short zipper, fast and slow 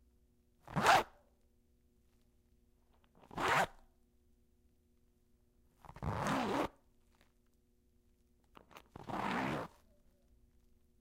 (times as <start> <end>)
0.6 1.2, 3.2 3.8, 5.8 6.8, 8.9 9.8